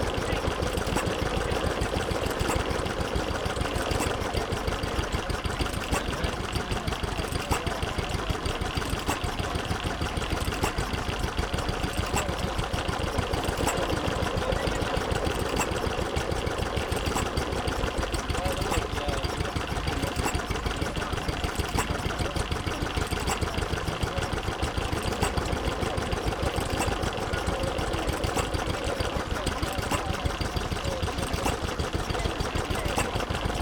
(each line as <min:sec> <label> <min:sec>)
0:00.0 Static engine 0:33.6